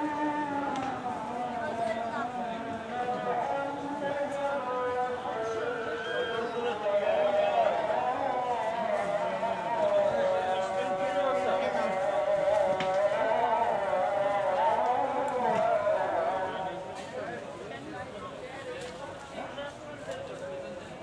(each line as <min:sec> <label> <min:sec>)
0:00.0 Call to Prayer 0:18.1